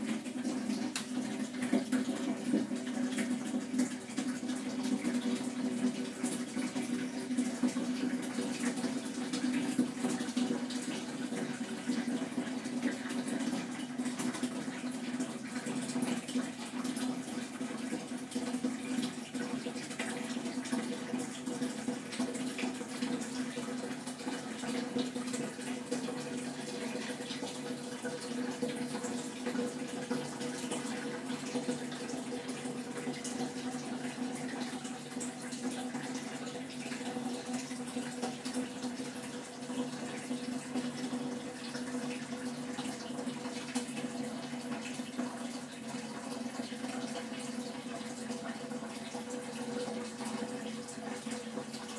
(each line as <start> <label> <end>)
0.0 flushing the toilet 51.9
0.0 washing my hands 51.9